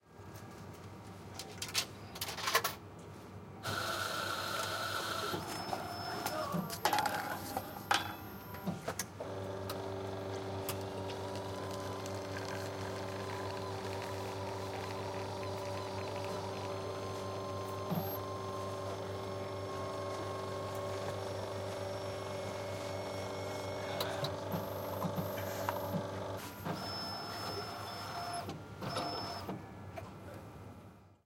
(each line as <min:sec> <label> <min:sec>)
0:03.6 Paid Coffee machine 0:29.6
0:22.9 hydraulics 0:29.6